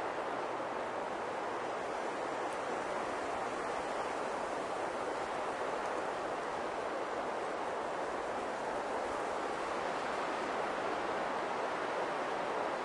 strong wind gusts on pine trees 0:00.0 - 0:12.8

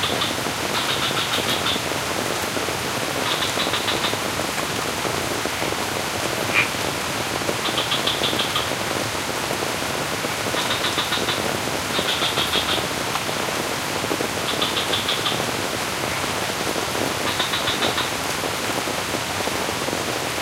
rain falls over the sculpted rice terraces 0:00.0 - 0:20.4
frog 0:00.0 - 0:01.9
frog 0:03.2 - 0:04.2
frog 0:06.5 - 0:06.8
frog 0:07.6 - 0:08.8
frog 0:10.5 - 0:12.9
frog 0:14.5 - 0:16.3
frog 0:17.2 - 0:18.1

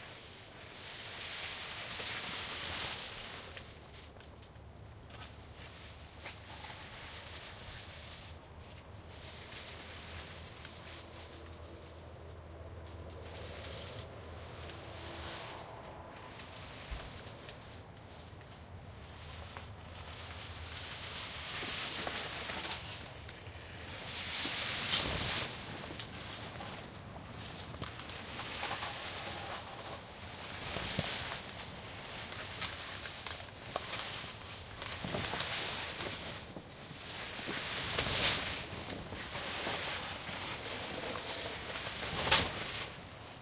plastic car tent shelter flap 0:33.6 - 0:43.4

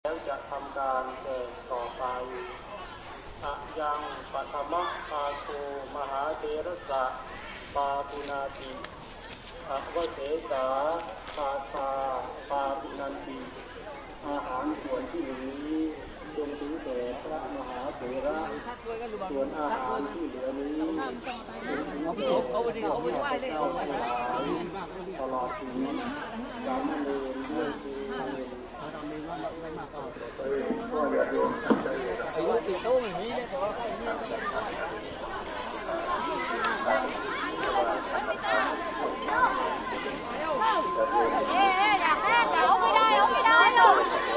crowd 0:00.0 - 0:44.3
monk 0:00.0 - 0:44.3

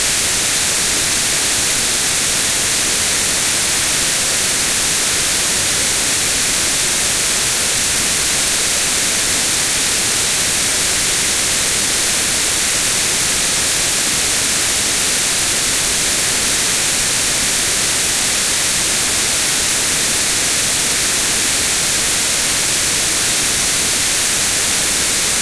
White Noise 0:00.0 - 0:25.4

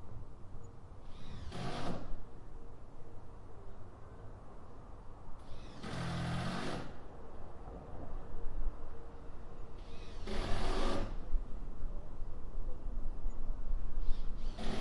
distant traffic 0:00.0 - 0:14.8
low level construction sounds 0:05.4 - 0:13.4
electric screwdriver noise 0:10.1 - 0:11.1
low level construction sounds 0:14.0 - 0:14.8
electric screwdriver noise 0:14.4 - 0:14.8

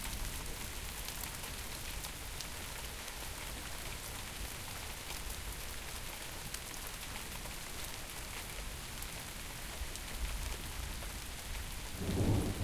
rain 0:00.0 - 0:12.6
thunder 0:12.0 - 0:12.6

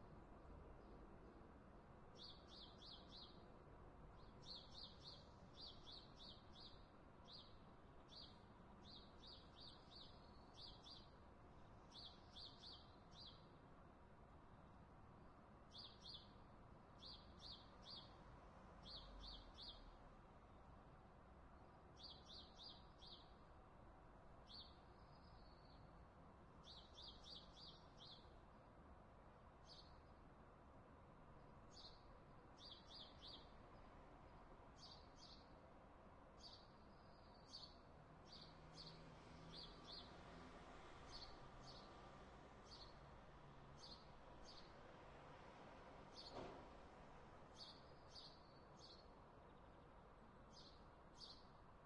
cars 0:38.1 - 0:47.7
birds 0:46.1 - 0:46.6

